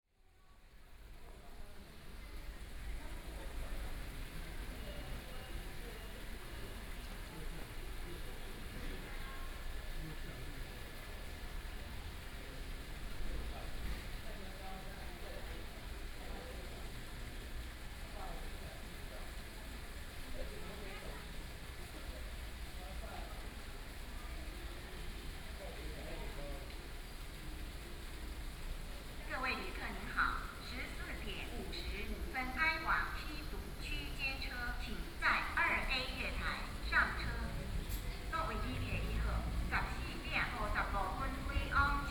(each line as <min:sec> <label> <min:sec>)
0:29.3 Station broadcast messages 0:42.1